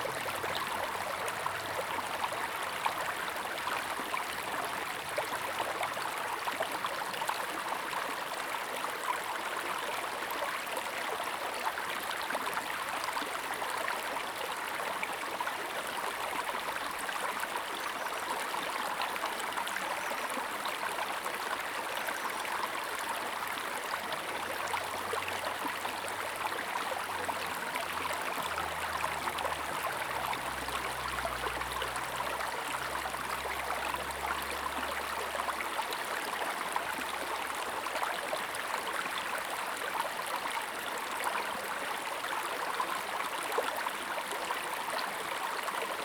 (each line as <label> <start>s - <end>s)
Stream 0.0s - 46.0s